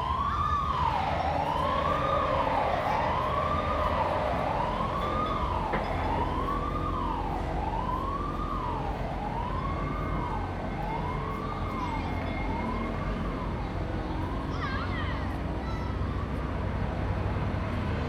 construction site 0.0 - 18.0

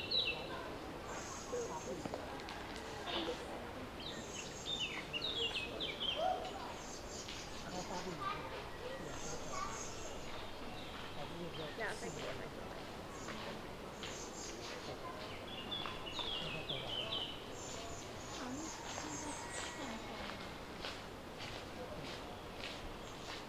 birds 2.7 - 20.7
people talking 7.6 - 20.8

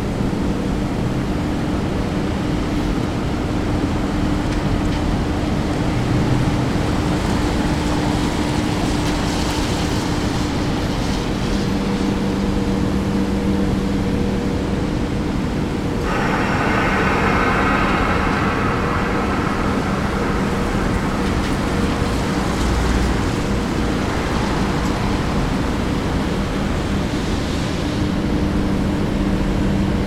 rainy night 15.3 - 28.2

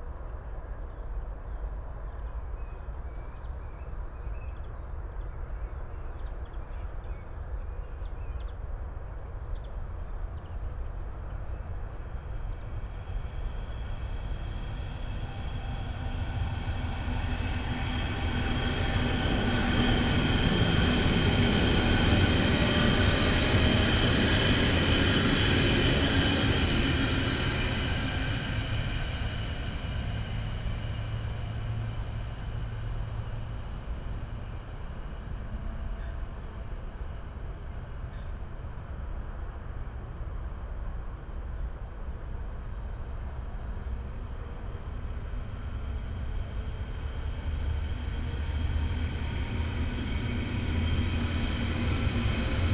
S-Bahn trains passing by 0.0 - 52.7

